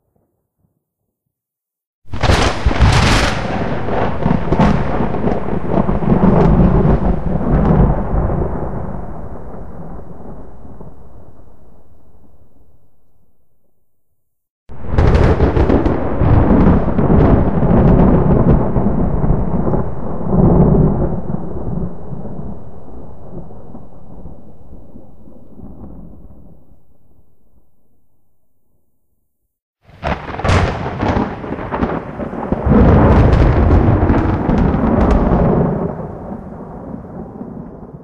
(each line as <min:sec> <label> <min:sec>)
0:02.1 thunder claps 0:12.0
0:14.7 thunder claps 0:26.8
0:29.9 thunder claps 0:38.0